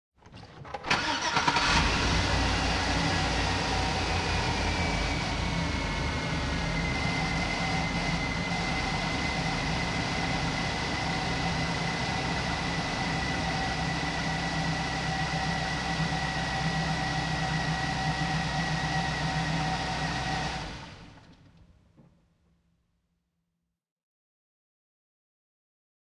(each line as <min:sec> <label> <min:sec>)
0:00.3 chevy Yukon starting up 0:21.7